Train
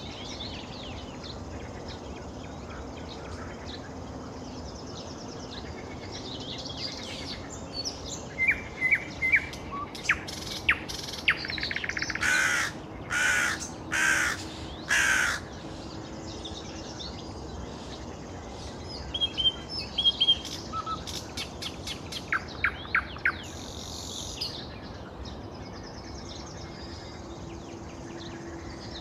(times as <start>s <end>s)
26.2s 29.0s